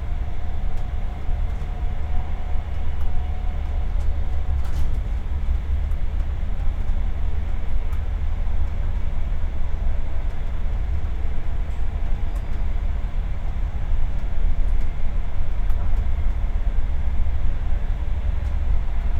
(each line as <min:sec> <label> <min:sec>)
0:00.0 rather quiet train ride 0:19.1